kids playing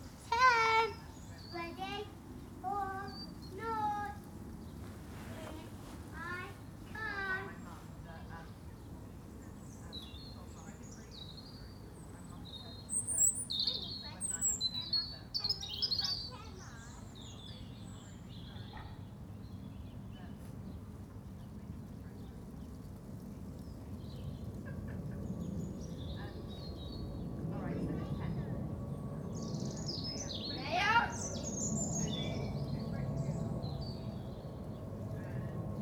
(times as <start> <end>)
0.0 4.3, 5.3 7.8, 30.4 33.0